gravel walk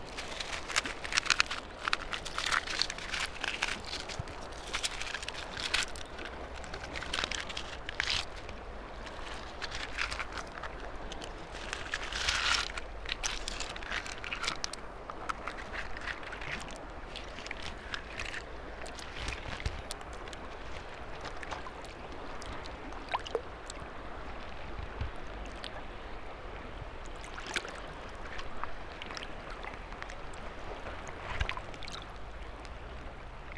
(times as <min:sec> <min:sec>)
0:00.0 0:22.2